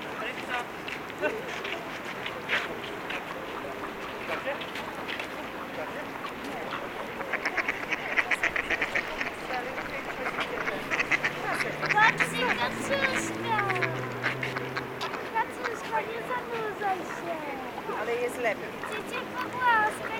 Ducks 0.3 - 20.1
kids 10.9 - 17.5

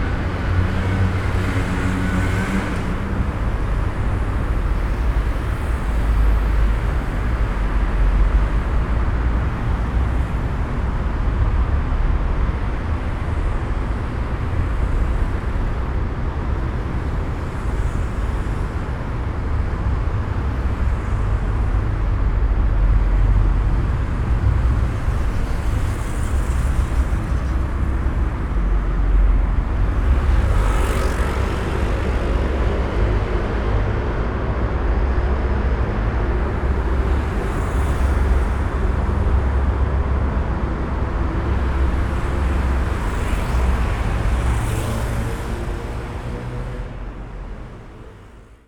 traffic tunnel drone 0.0 - 48.6

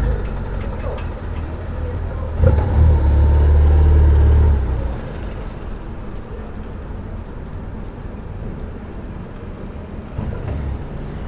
drone of a motorcycle 0.0 - 7.0
drone of a motorcycle 9.6 - 11.2

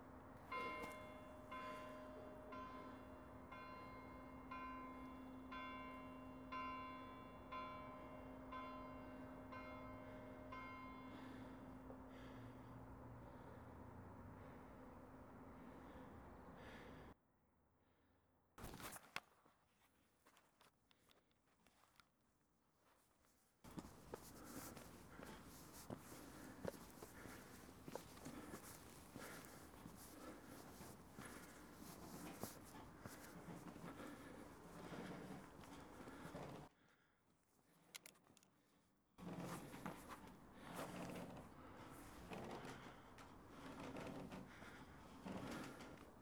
the bell calls the faithful 0.4 - 12.3

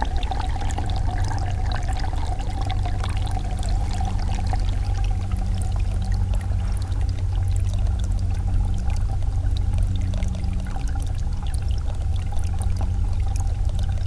small water stream 0.0 - 14.0

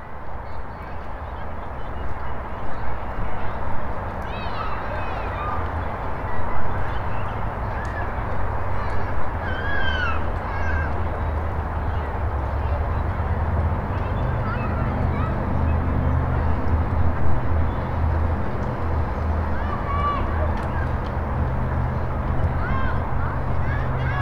people walking around the park 0.0 - 24.2
Children playing 4.0 - 24.2
traffic sounds 7.4 - 24.2

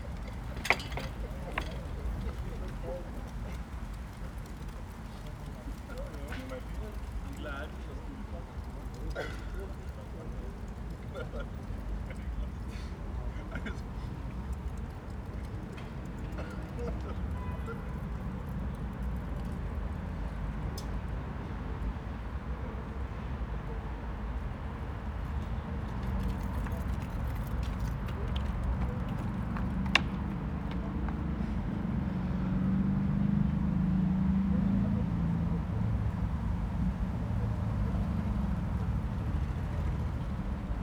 men chat a little 0.0 - 18.2

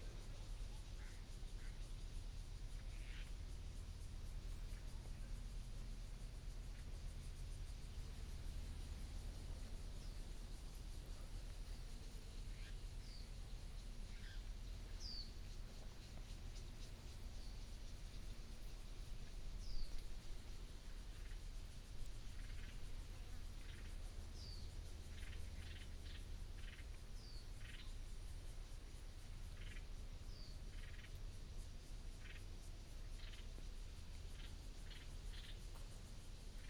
Birdsong 12.5 - 21.4

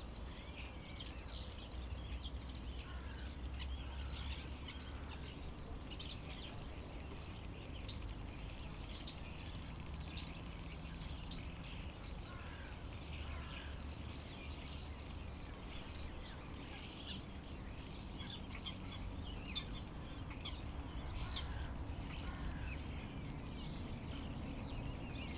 birds 0.0 - 25.3

